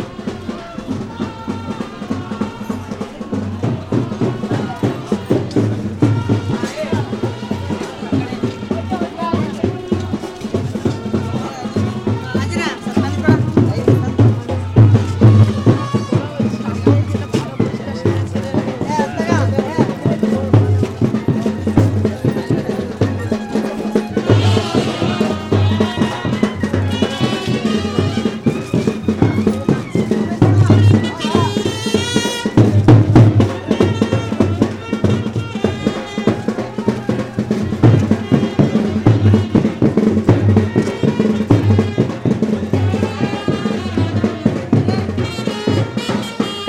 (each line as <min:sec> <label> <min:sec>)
0:00.0 music 0:46.6